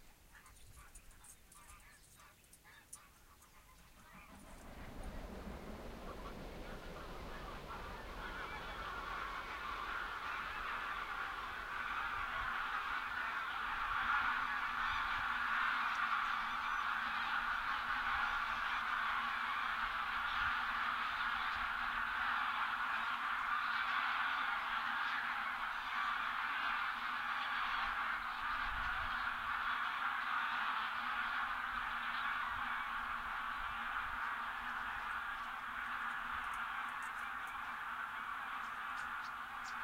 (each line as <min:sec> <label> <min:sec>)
0:00.0 flock of geese taking off 0:39.8